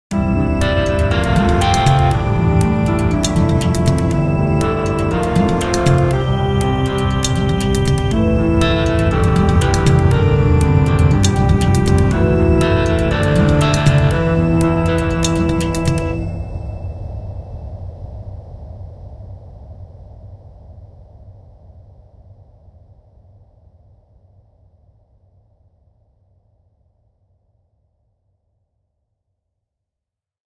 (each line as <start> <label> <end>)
0.1 short piece of music 17.1